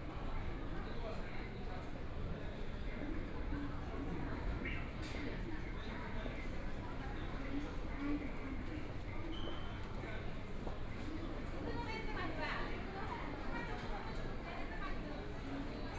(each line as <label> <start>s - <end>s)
walking in the Station 0.0s - 15.9s